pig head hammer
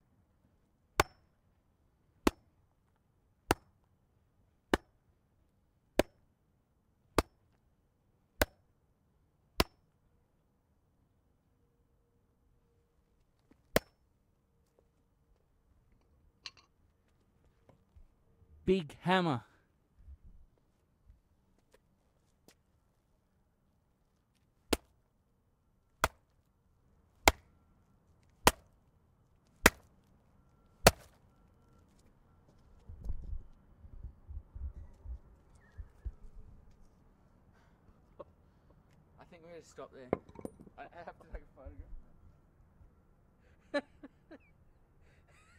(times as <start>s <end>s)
1.0s 1.3s, 2.3s 2.5s, 3.5s 3.8s, 6.0s 6.2s, 9.6s 9.8s, 27.3s 27.5s